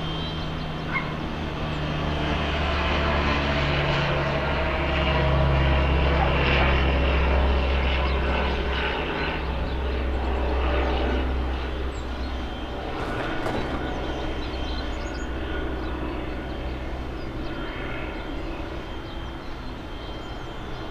0.1s plane flies over the building 20.1s

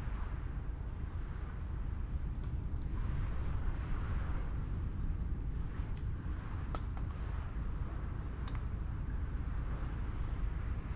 0.0s Various Insects 10.9s
8.4s Click and Crack sounds from twigs and branches 8.7s

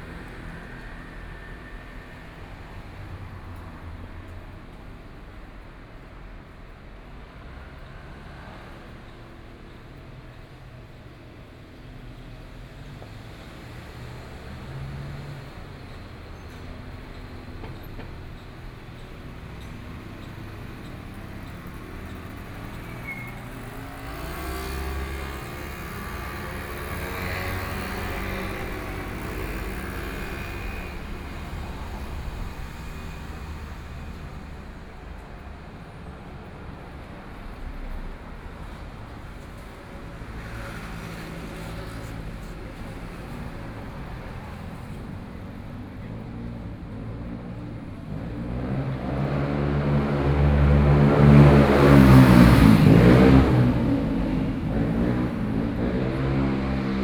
0.0s Traffic Sound 57.0s
0.0s Walking on the road 56.8s
14.5s Construction noise 57.0s

